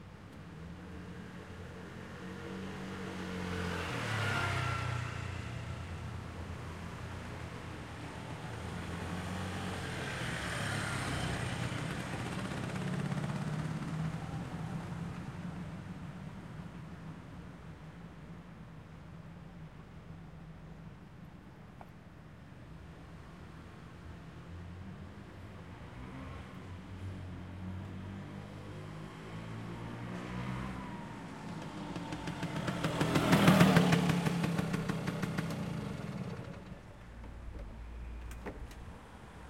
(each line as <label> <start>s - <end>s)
Vespa Piaggio passing 30.0s - 37.8s